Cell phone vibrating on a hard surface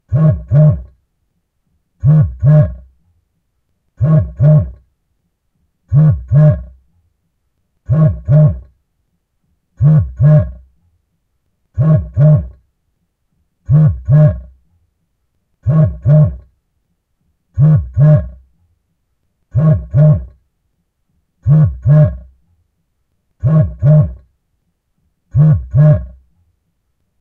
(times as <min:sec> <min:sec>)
0:00.1 0:01.0, 0:02.0 0:02.9, 0:04.0 0:04.9, 0:05.9 0:06.8, 0:07.8 0:08.8, 0:09.8 0:10.7, 0:11.8 0:12.6, 0:13.6 0:14.6, 0:15.6 0:16.5, 0:17.6 0:18.4, 0:19.5 0:20.4, 0:21.4 0:22.4, 0:23.4 0:24.3, 0:25.3 0:26.2